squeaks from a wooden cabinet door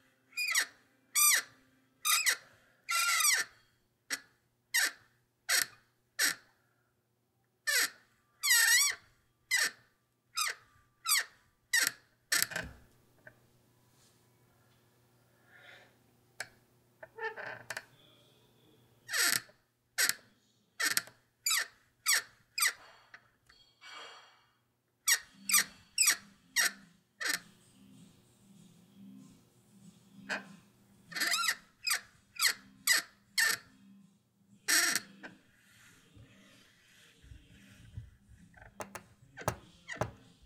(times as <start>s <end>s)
0.4s 4.2s, 7.7s 12.8s, 20.8s 23.0s, 25.1s 27.4s, 30.3s 33.7s, 34.7s 35.4s, 37.9s 40.3s